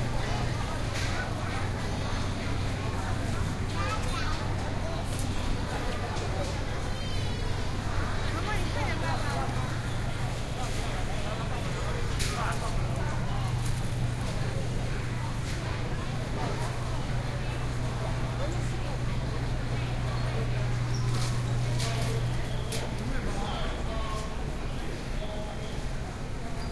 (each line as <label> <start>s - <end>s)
crowd 0.0s - 26.7s